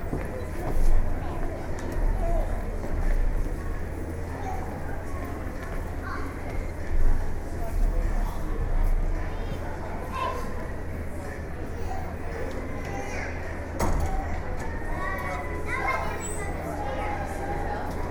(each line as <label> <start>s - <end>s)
General foyer voices 0.0s - 18.1s